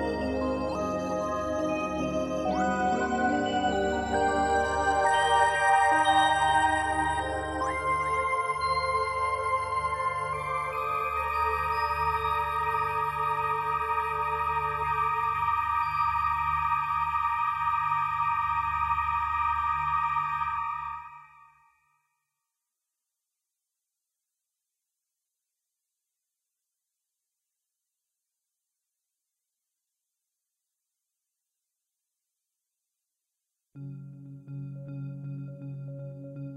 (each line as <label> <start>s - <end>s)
synth 0.0s - 21.2s